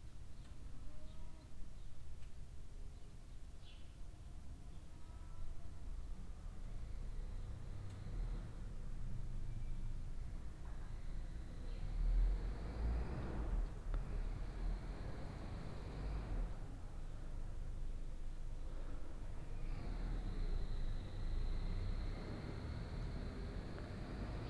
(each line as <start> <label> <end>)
10.3 car passing by 16.8
19.0 car passing by 24.4